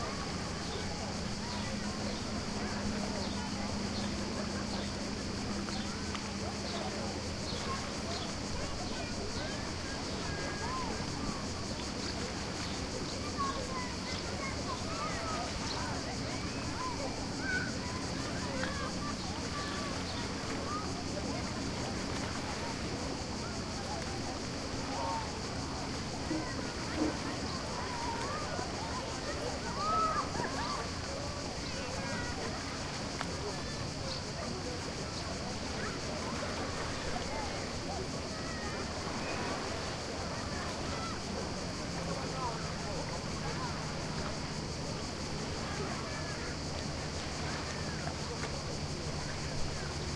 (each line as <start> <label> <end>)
0.0 crickets are chirping 50.1
0.0 waves 50.1